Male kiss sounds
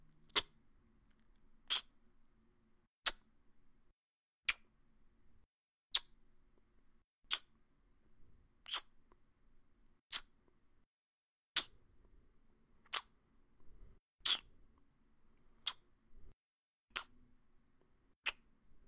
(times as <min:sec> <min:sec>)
0:00.3 0:00.5, 0:01.7 0:01.9, 0:03.0 0:03.3, 0:04.5 0:04.7, 0:05.9 0:06.2, 0:07.3 0:07.5, 0:08.6 0:09.0, 0:10.1 0:10.4, 0:11.6 0:11.8, 0:12.8 0:13.2, 0:14.2 0:14.5, 0:15.6 0:15.9, 0:16.9 0:17.2, 0:18.2 0:18.5